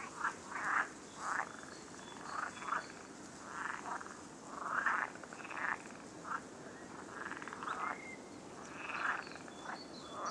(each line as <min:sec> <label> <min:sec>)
0:00.0 frogs 0:10.3
0:00.0 wind 0:10.3